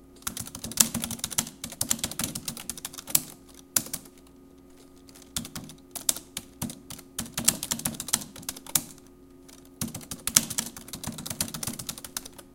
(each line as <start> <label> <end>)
0.2 Typing pc 12.5